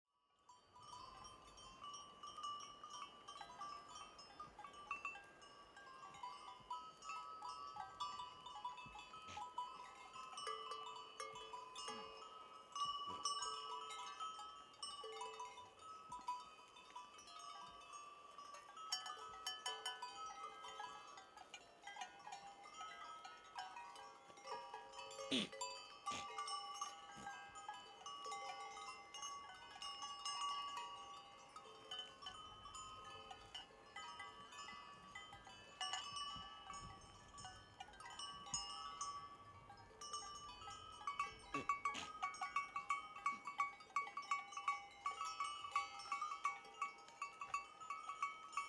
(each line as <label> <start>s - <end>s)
Glocken 0.4s - 48.6s
Furzen 0.6s - 47.8s